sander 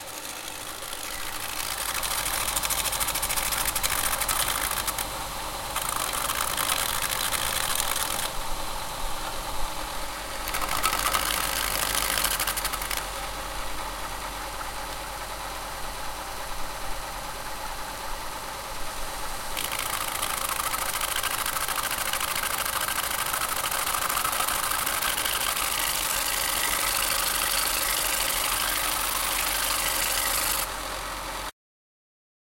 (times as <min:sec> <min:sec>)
0:00.0 0:08.4, 0:10.4 0:14.5, 0:19.6 0:31.0